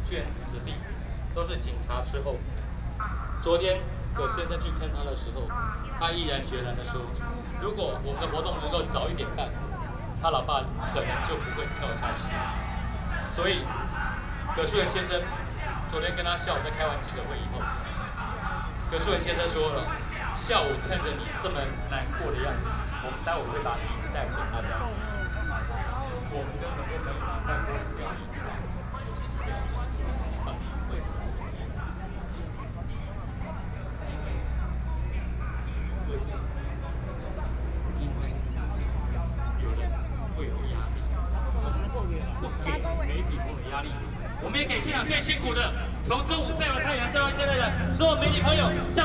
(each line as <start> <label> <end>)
42.6 Protest 49.0